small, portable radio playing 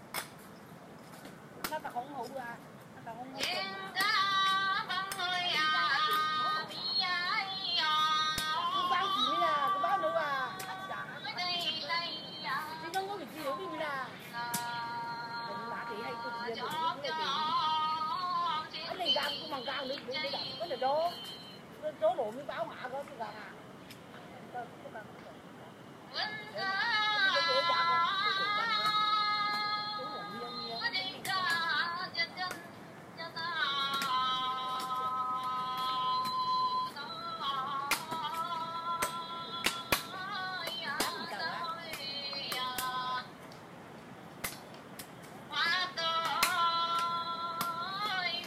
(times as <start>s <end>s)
26.2s 32.6s